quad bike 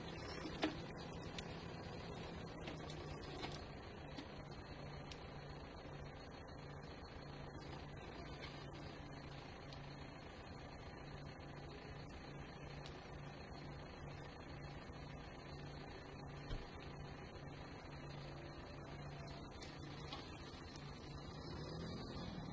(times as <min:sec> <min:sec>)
0:18.6 0:22.5